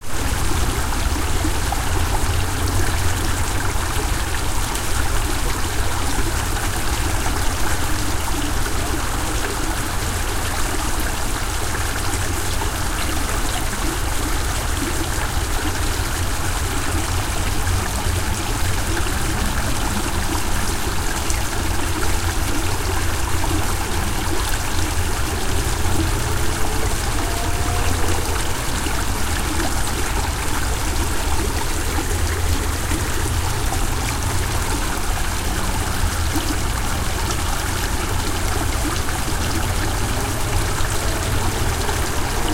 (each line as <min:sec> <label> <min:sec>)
0:00.0 water 0:42.5
0:00.2 busy interstate highway 0:42.5